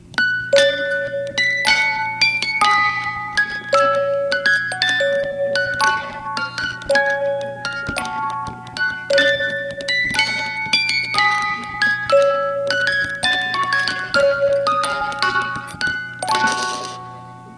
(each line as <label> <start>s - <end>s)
green sleves-music box 0.0s - 17.5s